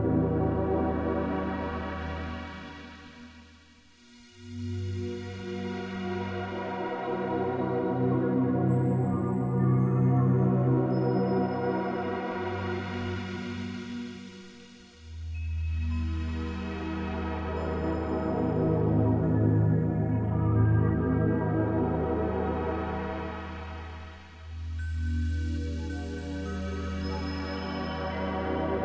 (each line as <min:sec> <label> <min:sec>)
0:00.0 synthesizer 0:28.8